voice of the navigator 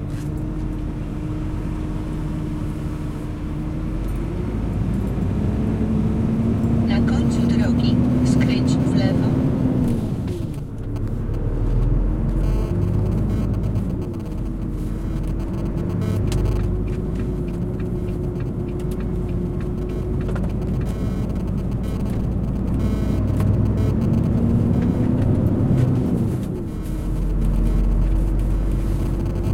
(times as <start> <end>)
6.8 9.6